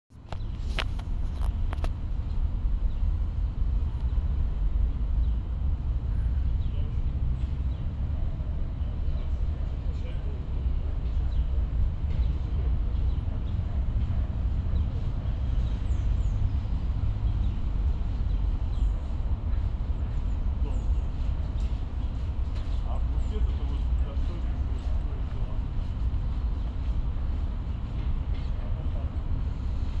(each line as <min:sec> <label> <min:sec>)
0:00.2 birds singing 0:30.0
0:08.1 people talking 0:15.4
0:20.0 people talking 0:22.1
0:22.8 people talking 0:26.2
0:28.0 people talking 0:29.4